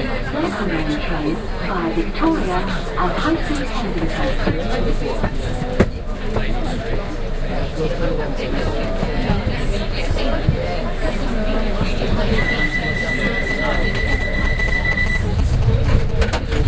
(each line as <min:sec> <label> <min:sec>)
0:00.0 announcement 0:05.3
0:00.0 train 0:16.6
0:10.4 announcement 0:16.6